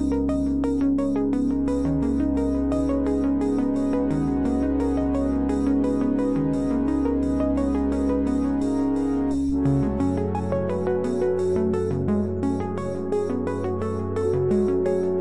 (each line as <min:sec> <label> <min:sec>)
0:00.0 arpeggiator e-music fragment 0:15.2